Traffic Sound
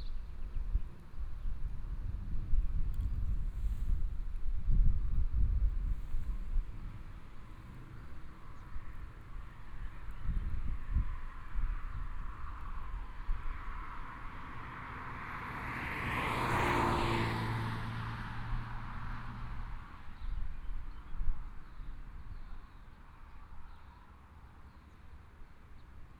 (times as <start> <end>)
5.6 20.5